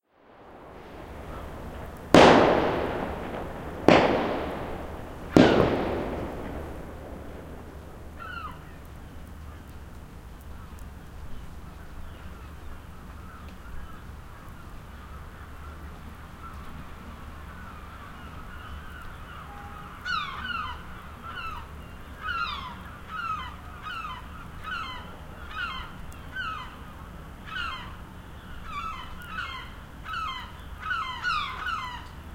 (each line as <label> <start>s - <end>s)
light rain 0.0s - 32.3s
fireworks 0.3s - 8.9s
seagulls 17.6s - 26.9s
seagulls 27.5s - 28.0s
seagulls 28.6s - 32.2s